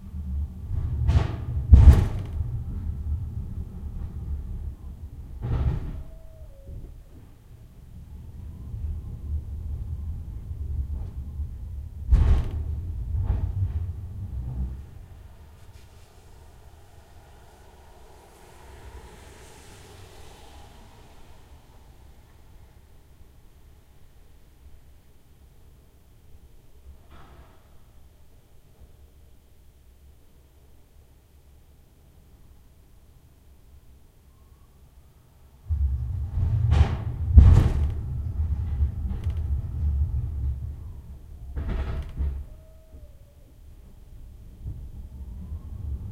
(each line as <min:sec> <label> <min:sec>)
0:00.0 forklift (rumbling, creaking) 0:24.2
0:35.6 forklift (rumbling, creaking) 0:46.1